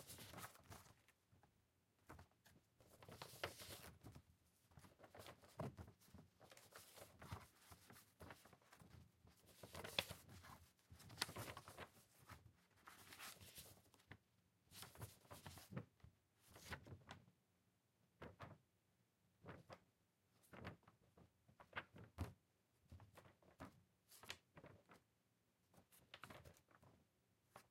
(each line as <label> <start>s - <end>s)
Paper rusteling 0.0s - 1.1s
Paper rusteling 2.0s - 4.2s
Paper rusteling 4.8s - 14.1s